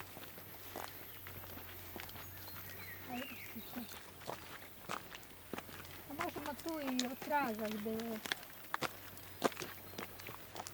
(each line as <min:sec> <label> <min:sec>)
0:00.0 walking towards and entering a small church 0:10.7
0:06.1 commentaries of 2 women 0:08.3